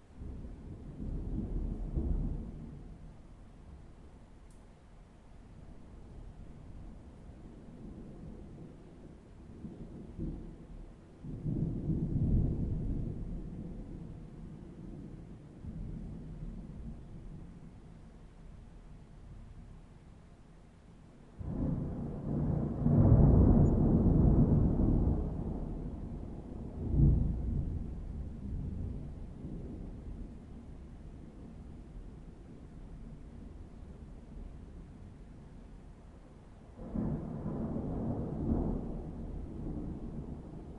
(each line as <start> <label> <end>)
0.0 rain 40.7
0.0 wind 40.7
0.2 heavy thunderstorm 3.1
6.0 heavy thunderstorm 18.0
21.4 heavy thunderstorm 40.7